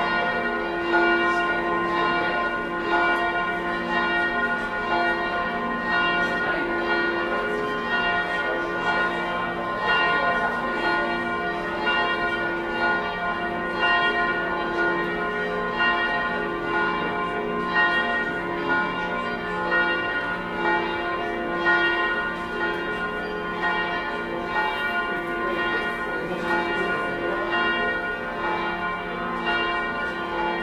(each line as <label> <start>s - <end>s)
Bells ringing 0.0s - 30.6s